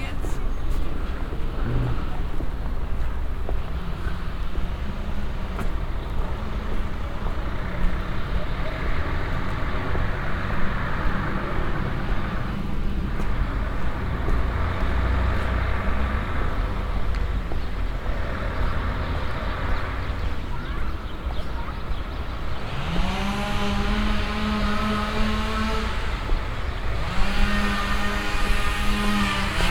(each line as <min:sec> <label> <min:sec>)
0:00.0 prostitutes on the street speaking to passengers 0:22.6
0:22.5 machine saw cutting trees 0:29.7